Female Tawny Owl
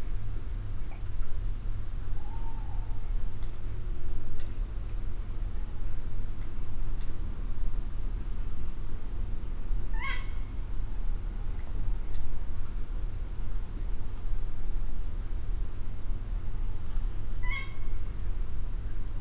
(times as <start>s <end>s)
2.2s 3.0s, 9.9s 10.5s, 17.4s 18.0s